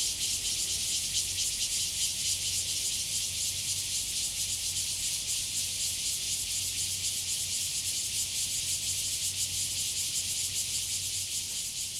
Cicadas sound 0:00.0 - 0:11.9

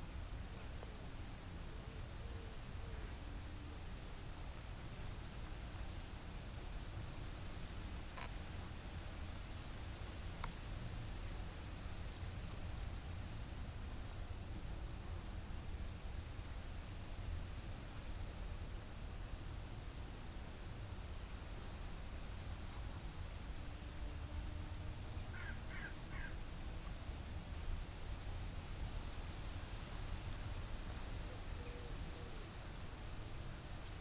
wind in leaves 0:00.0 - 0:34.0
insects 0:00.0 - 0:34.0
Crows 0:25.3 - 0:26.4

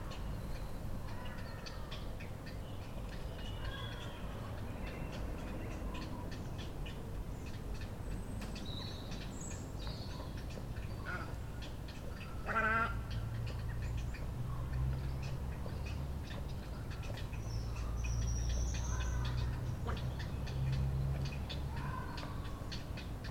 rhythmic call is Heron chicks in the nest 0:00.0 - 0:23.3

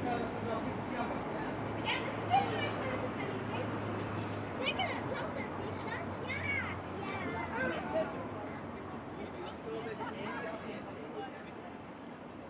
traffic noise 0:00.0 - 0:12.4
Children playing 0:01.8 - 0:08.4

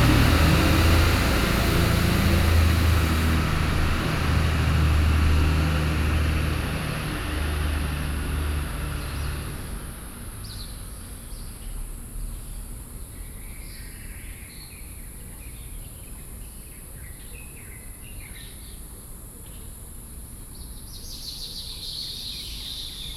Bus access through 0:00.0 - 0:09.5

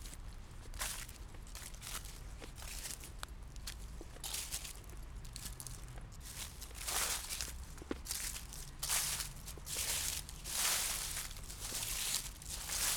walking over cruncy dry leaves 0:00.0 - 0:12.9

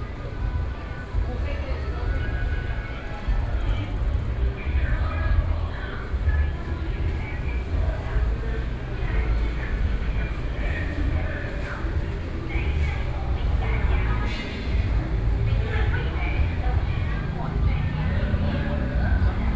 Traffic Sound 0:00.0 - 0:19.5

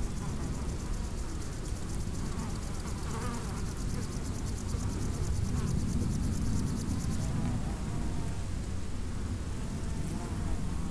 insects on a meadow 0:00.0 - 0:10.9

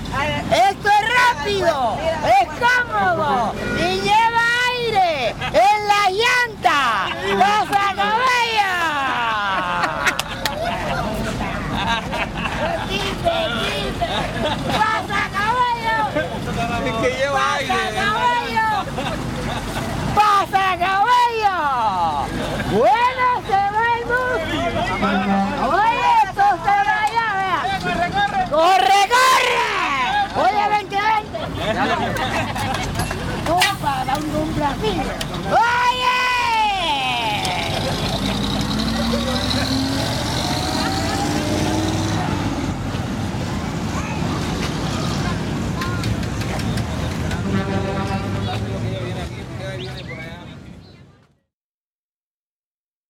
Bus sparring to anounce and collect passengers 0:00.0 - 0:51.2

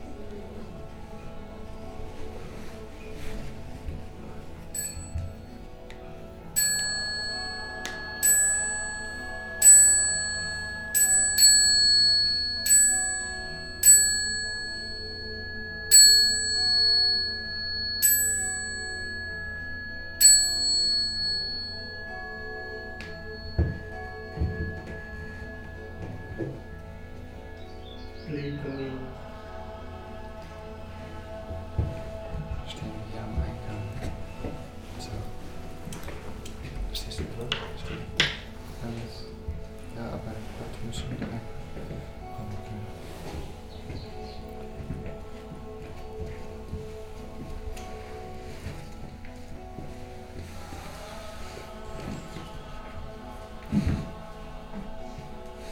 sound of the bell 0:04.8 - 0:05.6
sound of the bell 0:06.6 - 0:27.3

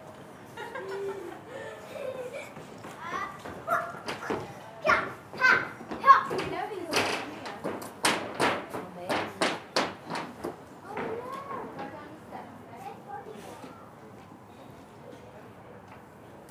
people walk over the metal grating 0:00.0 - 0:16.5

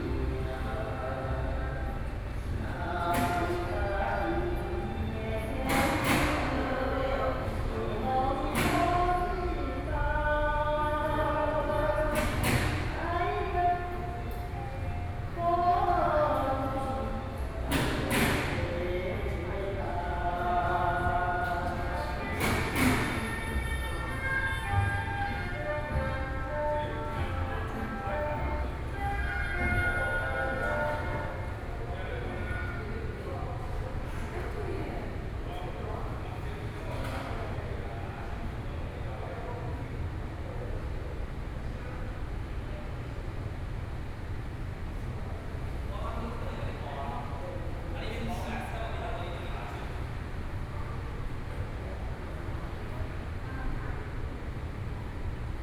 Artists are repairing his artworks 0:00.0 - 0:34.7
Workers are repairing the door 0:02.7 - 0:09.4
Workers are repairing the door 0:17.4 - 0:20.3
Workers are repairing the door 0:20.9 - 0:26.3

